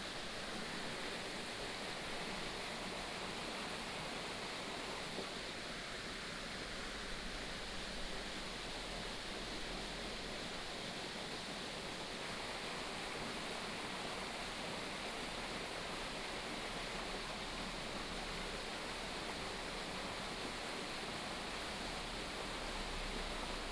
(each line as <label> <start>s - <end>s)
stream 0.0s - 23.7s